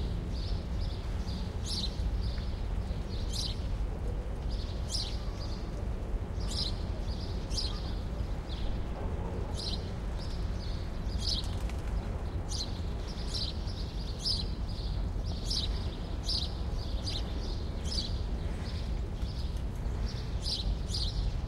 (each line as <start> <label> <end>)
0.0 city birds 21.4